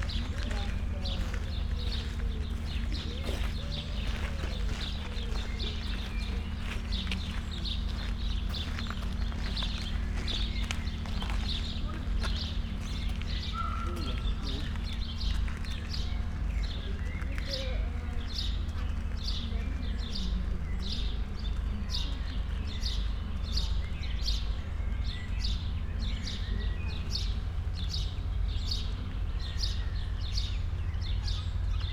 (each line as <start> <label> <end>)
0.0 free birds 31.9
0.0 peacocks 31.9
0.0 steps around 31.9
13.5 spoken words 15.0